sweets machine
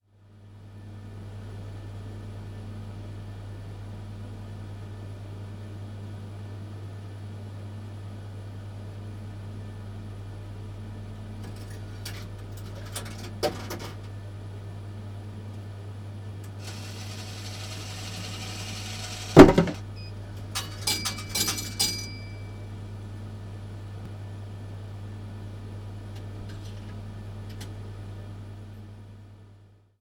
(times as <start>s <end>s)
16.4s 22.7s